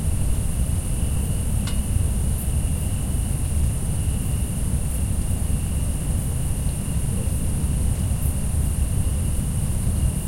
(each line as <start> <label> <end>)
0.0 crickets 10.2